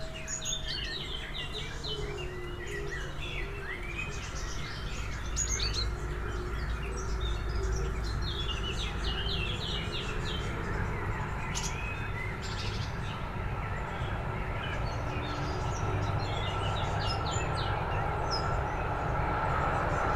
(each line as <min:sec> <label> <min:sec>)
0:00.0 train 0:20.1